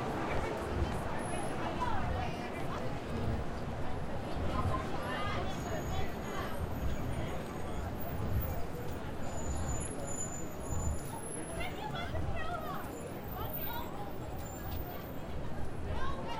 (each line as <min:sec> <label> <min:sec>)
0:00.0 crowd 0:16.3
0:00.0 traffic 0:16.3